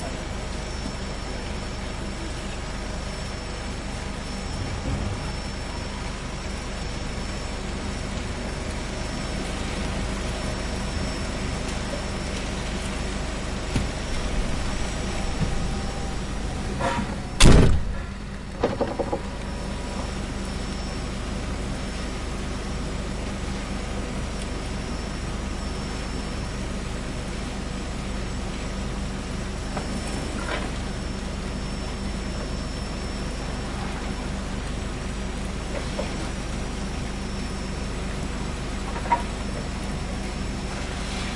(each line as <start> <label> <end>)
0.0 forklift 41.3
0.0 fruit-processing plant 41.3